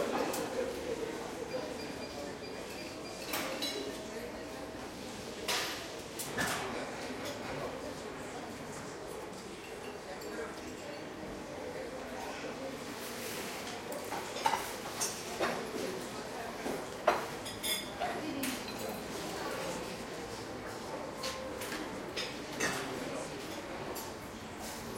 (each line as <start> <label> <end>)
14.1 dishes 15.6
21.2 dishes 24.1